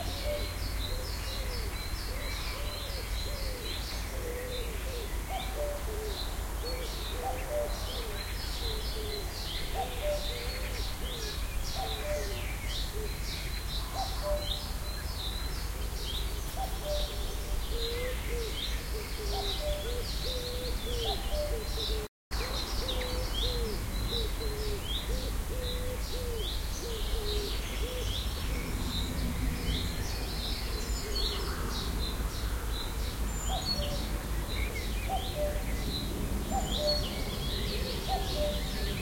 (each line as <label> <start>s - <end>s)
cuckoo 0.0s - 13.2s
cuckoo 14.0s - 14.6s
cuckoo 16.5s - 28.2s
cuckoo 35.1s - 35.7s
cuckoo 36.5s - 39.0s